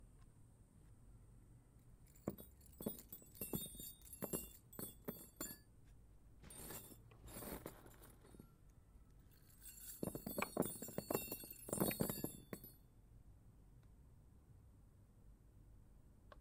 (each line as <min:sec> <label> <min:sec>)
0:02.0 chains 0:05.6
0:02.1 CLANGING AND DROPPING METAL IN THE DIRT 0:05.7
0:06.4 CLANGING AND DROPPING METAL IN THE DIRT 0:08.6
0:06.4 chains 0:08.6
0:09.2 chains 0:12.8
0:09.2 CLANGING AND DROPPING METAL IN THE DIRT 0:12.8